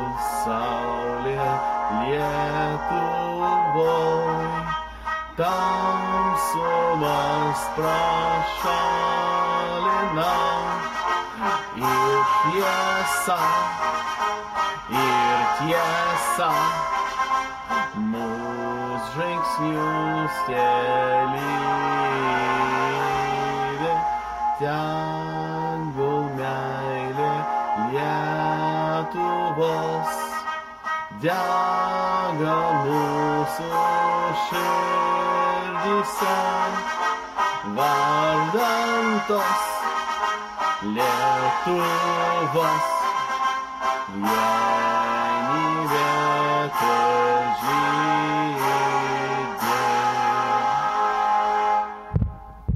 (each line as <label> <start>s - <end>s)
anthem sung by an ethnical Lithuanian born abroad 0.0s - 51.9s